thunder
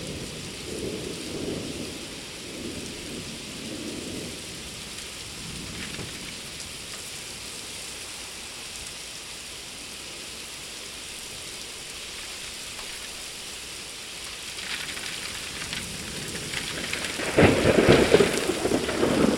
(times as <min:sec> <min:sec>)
0:00.0 0:06.6, 0:14.8 0:19.3